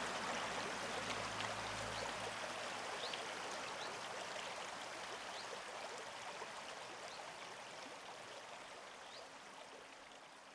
river 0:00.0 - 0:10.5

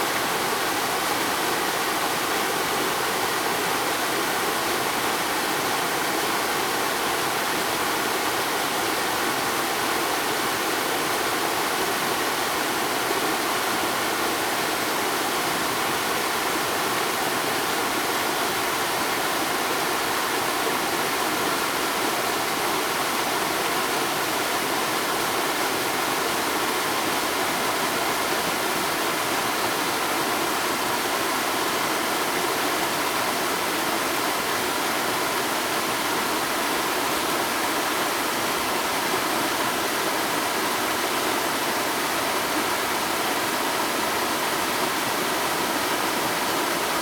waterfalls in the distance 0:00.0 - 0:47.0

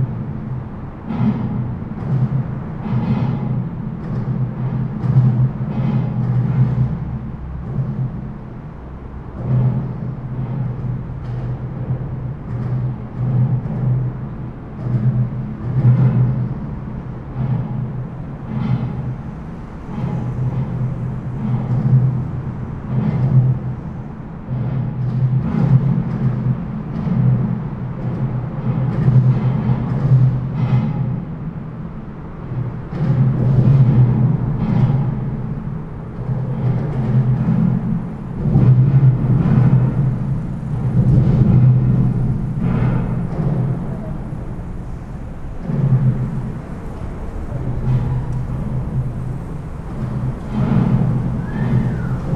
traffic noise under the bridge 0:00.0 - 0:52.3

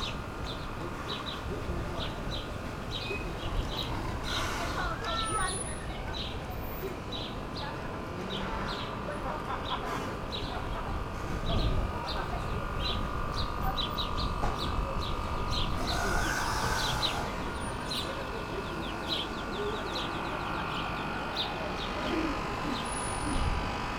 wind 0:00.0 - 0:23.9
boat squeaking and creaking at the quai wall 0:03.1 - 0:06.0
boat squeaking and creaking at the quai wall 0:15.7 - 0:17.9

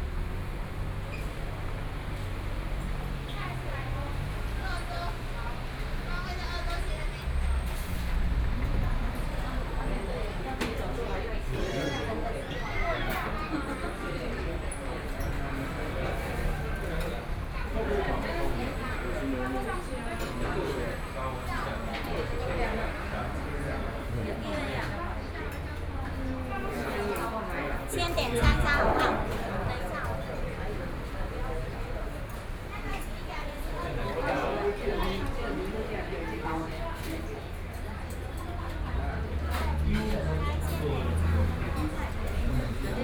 Traffic Sound 0:00.0 - 0:43.0

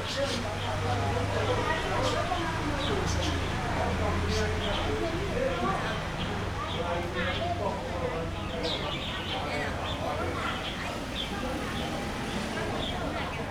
older people in the chat 0:00.0 - 0:13.5
Traffic Sound 0:00.0 - 0:13.5
Birds singing 0:08.2 - 0:13.5

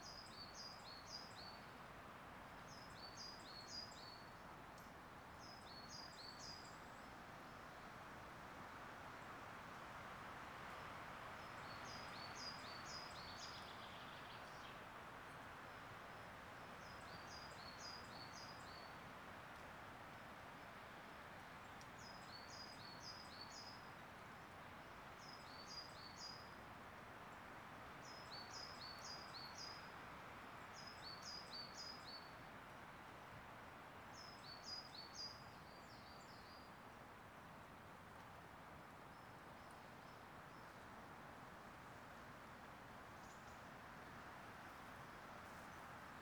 Bird song 0:28.0 - 0:29.9
Bird song 0:34.1 - 0:36.8

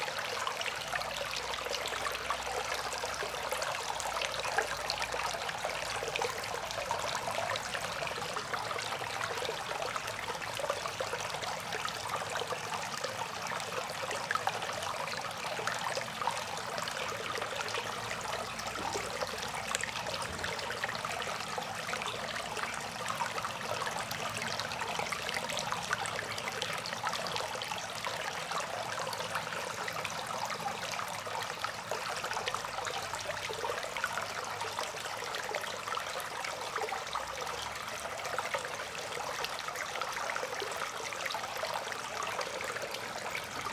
rain water drain pipe 0:18.0 - 0:21.5

